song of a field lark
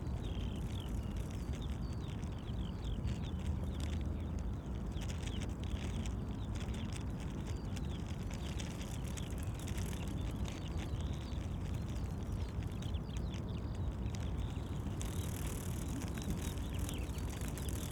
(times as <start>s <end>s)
6.4s 17.9s